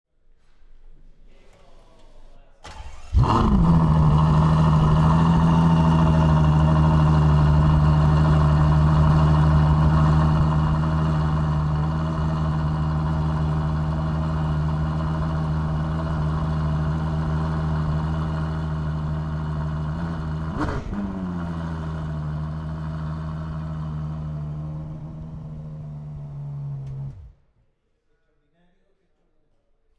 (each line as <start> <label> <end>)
2.6 ferrari engine turning on 27.4